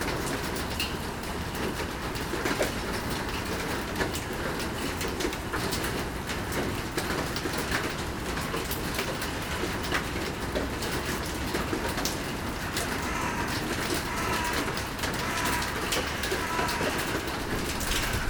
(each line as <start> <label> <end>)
0.0 rain is falling 18.2
12.5 crows are calling and shouting 18.2